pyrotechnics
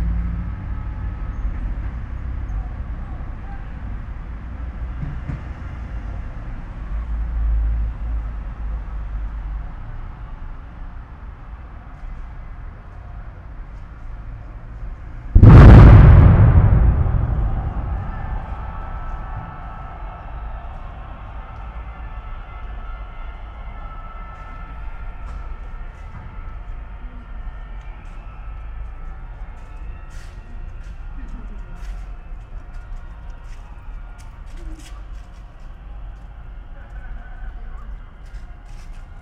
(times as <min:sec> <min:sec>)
0:15.4 0:18.9